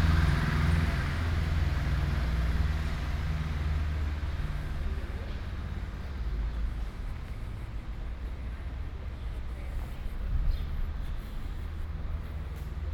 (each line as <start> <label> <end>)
4.1 Walking 12.9